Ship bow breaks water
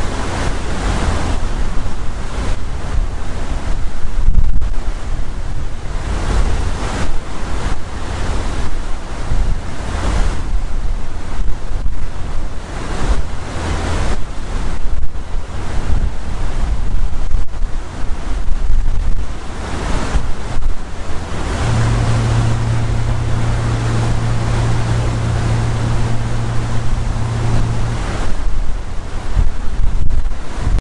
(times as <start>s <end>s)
19.1s 30.5s